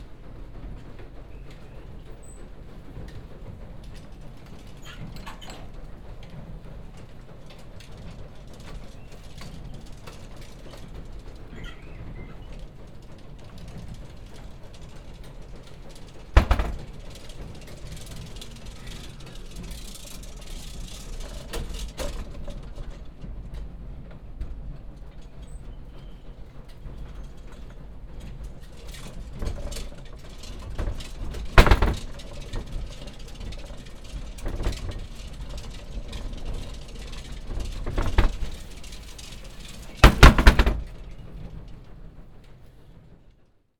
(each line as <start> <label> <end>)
16.2 wooden floor door 17.3
29.4 wooden floor door 33.0
33.6 wooden floor door 41.0